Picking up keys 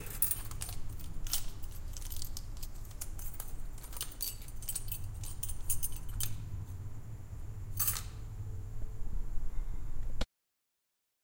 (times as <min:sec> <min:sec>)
0:00.0 0:06.6, 0:07.7 0:08.3